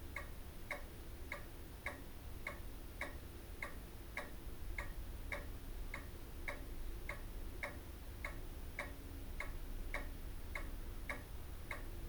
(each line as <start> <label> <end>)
0.0 pendulum wall clock ticks on 12.0